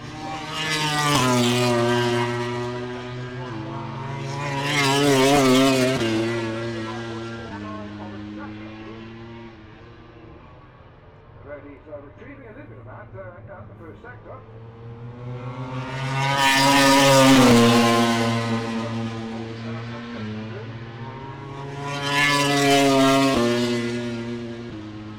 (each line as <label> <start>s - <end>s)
motorcycle grand prix 0.0s - 25.1s
commentary 2.8s - 9.6s
commentary 11.2s - 24.0s